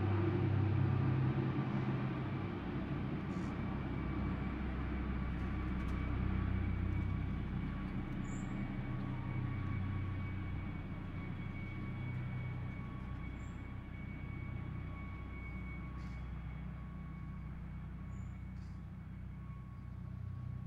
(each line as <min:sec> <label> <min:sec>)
0:00.0 Helicopter flying 0:20.6